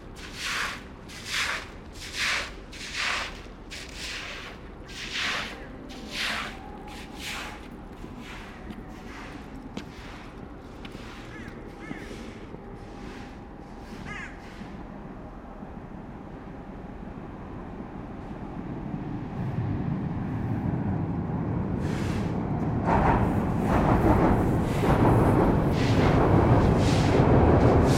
0.0s somebody is cleaning the street 14.9s
0.0s Metro and trains are passing by 27.9s
0.0s big urban noises 27.9s
21.8s somebody is cleaning the street 22.5s
25.7s somebody is cleaning the street 27.9s

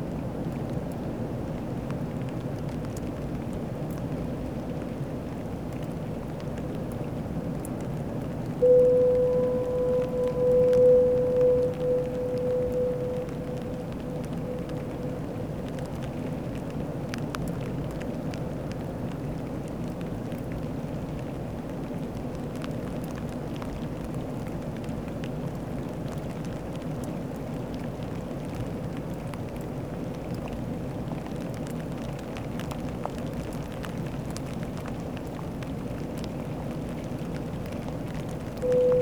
0.0s rain 39.0s
8.6s Foghorn 16.0s
38.6s Foghorn 39.0s

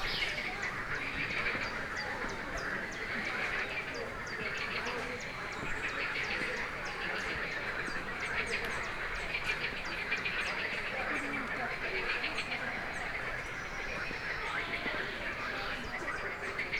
0.0s frogs 16.7s

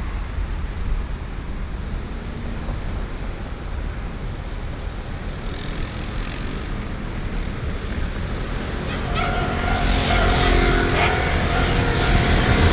7.8s Train traveling through 12.7s

